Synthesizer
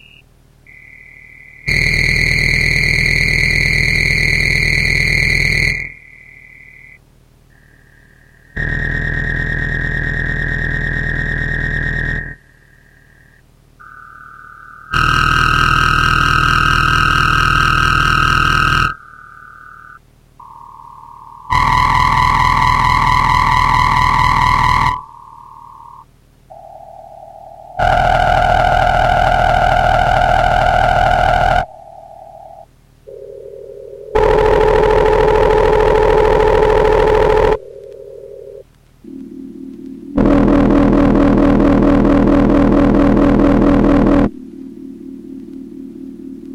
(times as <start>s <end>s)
13.8s 46.5s